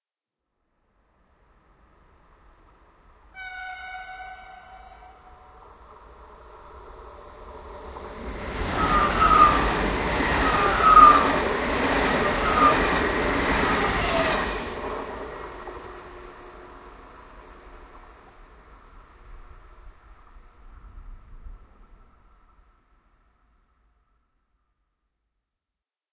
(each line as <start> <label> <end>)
1.1 city express train 23.3